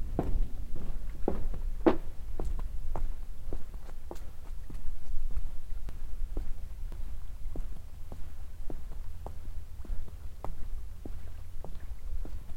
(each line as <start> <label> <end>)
0.0 walk onto a lake plattform 12.5